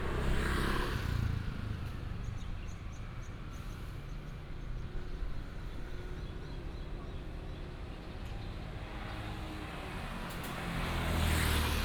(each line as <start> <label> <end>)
0.0 Traffic sound 2.6